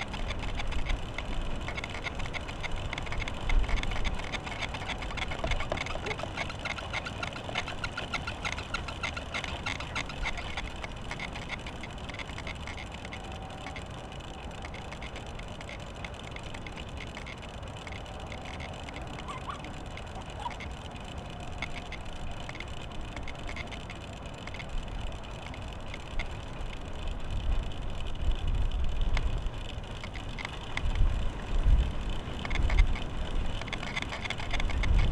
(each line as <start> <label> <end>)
0.0 improvised wind wheel 35.1
0.0 windy 35.1